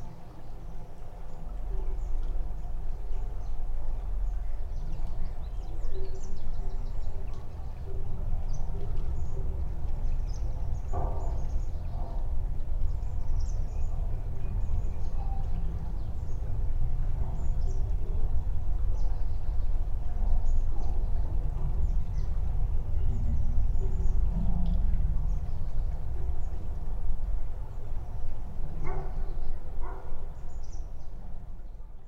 river 0.0 - 32.0
metallic/wooden bridge 8.2 - 19.0

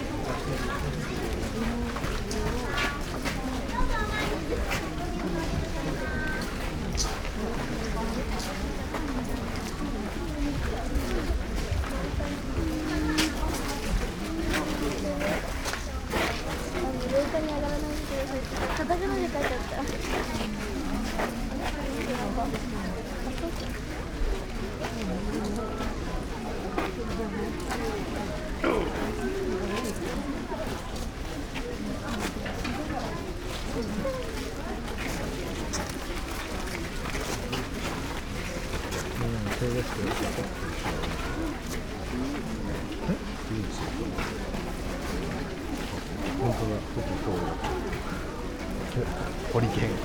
murmur of people 0.0 - 50.0

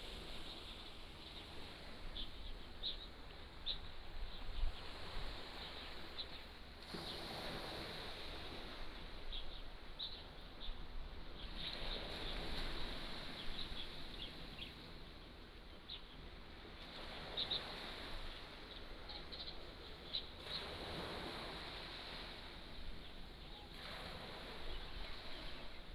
waves 0.0 - 25.9

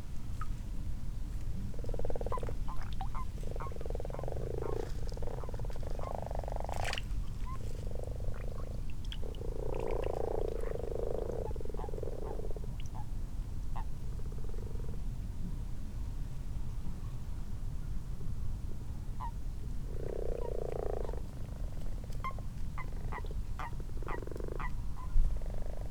common toads in a garden pond 0.0 - 15.4
common frogs 1.3 - 15.2
common toads in a garden pond 19.0 - 25.9
common frogs 19.1 - 25.9

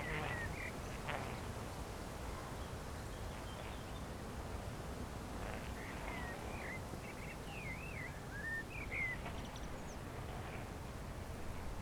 wind 0.0 - 11.8

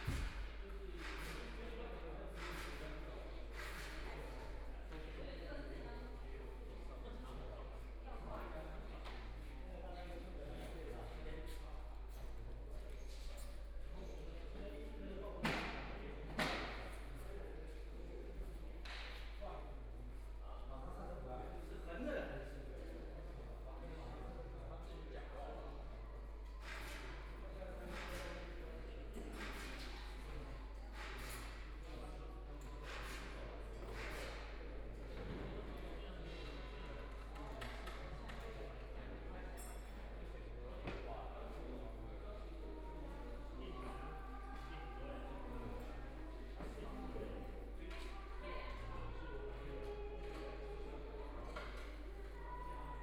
Construction workers are arranged exhibition 0.0 - 53.0

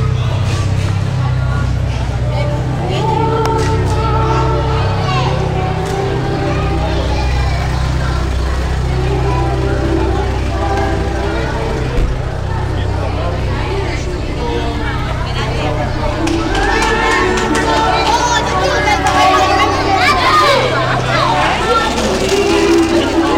children 0.0 - 23.3
music 0.0 - 23.3

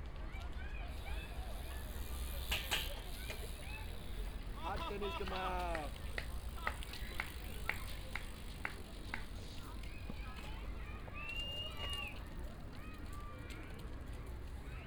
BMX bikers jumping up and down on a metal railing 0.9 - 12.2

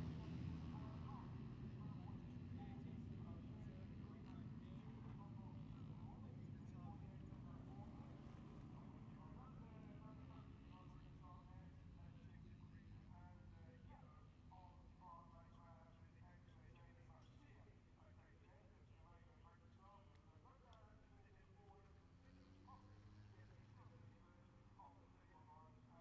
motorcycle grand prix 0.0 - 14.4

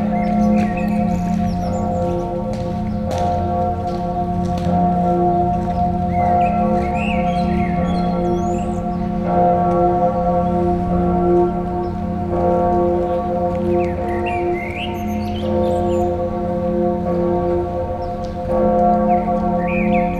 song of a blackbird 0.0 - 3.2
bell of this Lutheran church, ringing 0.0 - 20.1
pedestrians walking onto the gravels 0.0 - 20.1
song of a blackbird 5.8 - 9.2
song of a blackbird 13.1 - 16.2
song of a blackbird 19.1 - 20.1

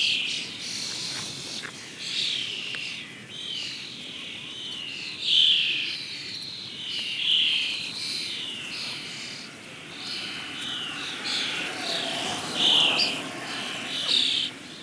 Common Starling colony, singing 0.0 - 14.8
wind in the grass 0.0 - 14.8
tourists cycling 7.6 - 14.8

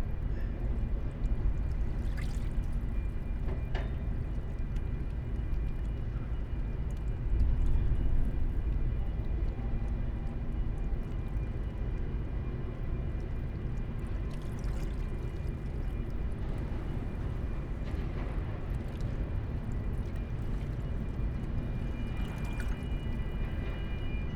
distant harbour sounds 12.4 - 24.3

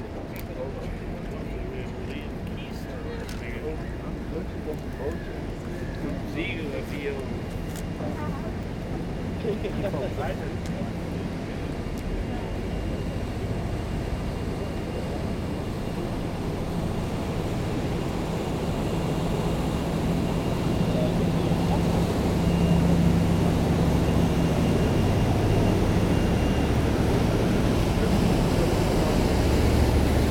big engine noise 0.0 - 30.3

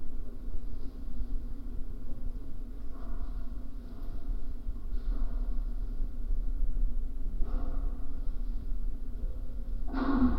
iron wires supporting the construction of concert hall 0.0 - 10.3

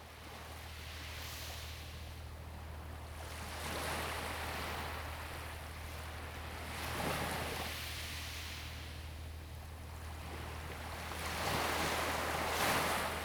Waves 3.1 - 13.2

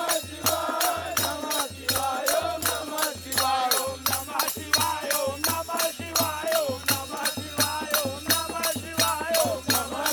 Parade 0.0 - 10.1

